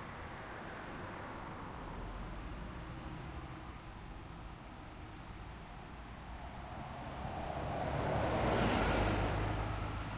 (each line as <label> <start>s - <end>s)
Cars passing by 6.1s - 10.1s